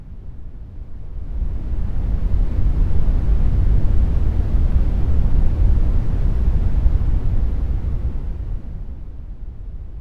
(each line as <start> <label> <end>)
0.0 rumble 10.0